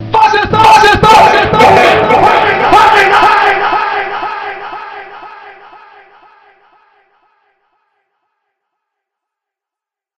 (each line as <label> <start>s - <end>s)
screams 1.0s - 6.4s